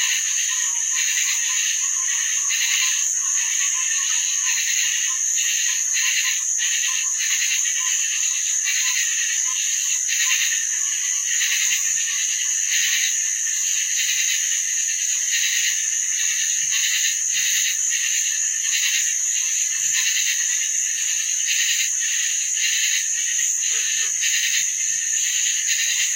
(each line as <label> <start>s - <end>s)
Swamp Crickets 0.0s - 26.1s